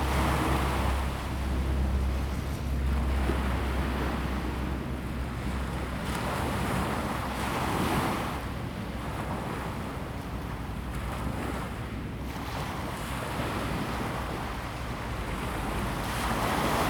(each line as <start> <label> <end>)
0.0 traffic sound 7.5